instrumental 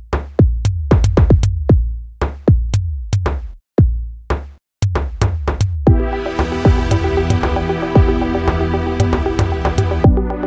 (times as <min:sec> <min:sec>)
0:04.8 0:10.4